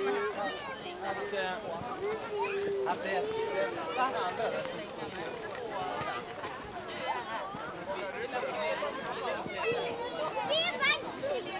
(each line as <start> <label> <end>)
0.0 children 11.5
0.0 people greeting 11.5